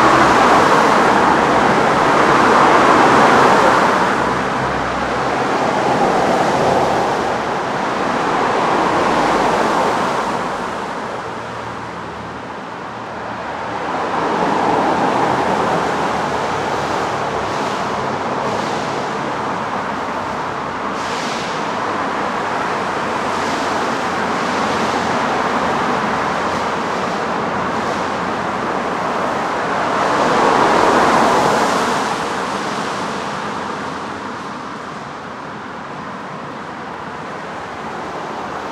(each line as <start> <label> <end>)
0.0 heavy traffic 38.7
0.0 rain 38.7